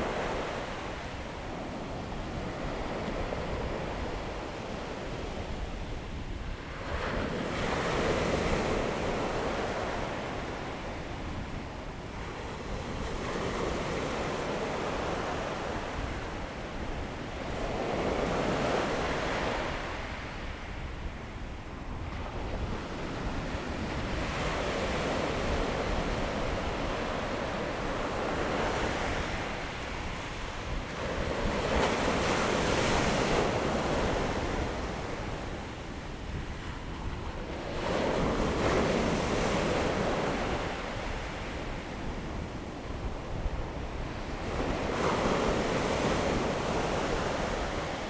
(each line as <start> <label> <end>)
0.0 waves 48.0